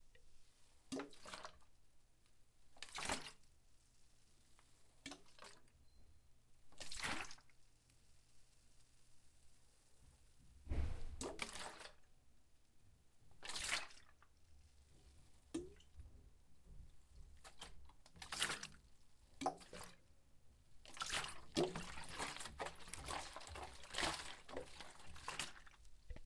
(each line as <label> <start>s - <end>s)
Water in a bottle 0.9s - 1.7s
Water in a bottle 5.0s - 5.7s
Water in a bottle 6.7s - 7.5s
Water in a bottle 10.7s - 12.0s
Water in a bottle 17.2s - 20.0s
Water in a bottle 20.8s - 26.2s